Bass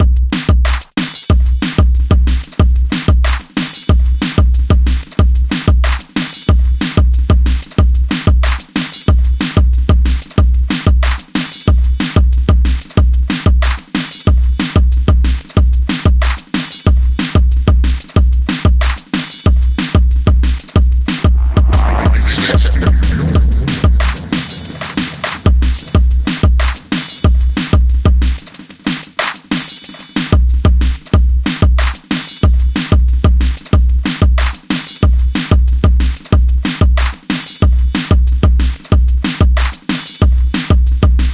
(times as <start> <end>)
21.2 28.4